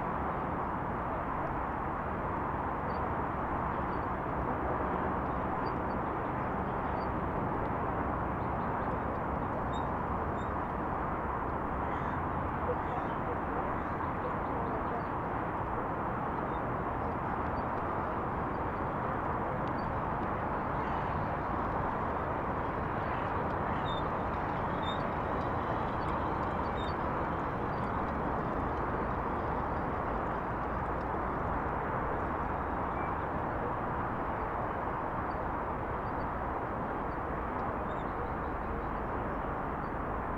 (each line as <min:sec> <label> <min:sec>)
0:00.0 freeway 0:40.3
0:19.7 birds 0:31.7